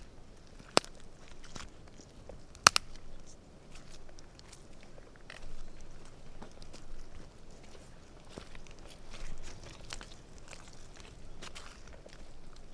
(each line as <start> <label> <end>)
0.0 Squelchy Twigs 12.7